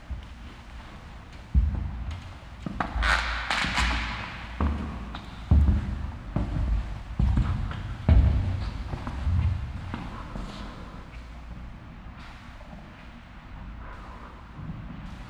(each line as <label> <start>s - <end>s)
steps 0.0s - 11.3s